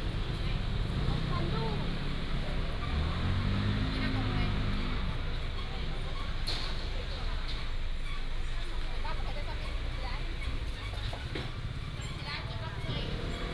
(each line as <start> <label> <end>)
0.0 Traffic sound 13.5